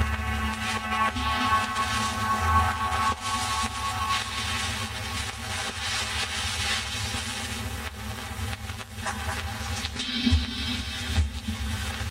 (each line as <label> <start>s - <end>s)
spectrally processed record crackle 0.0s - 12.1s